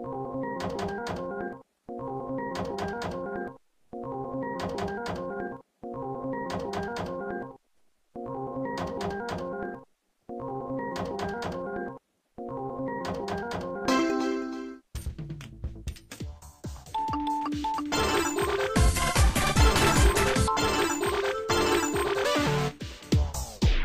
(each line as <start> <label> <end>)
17.0 Spielautomaten Sound 22.8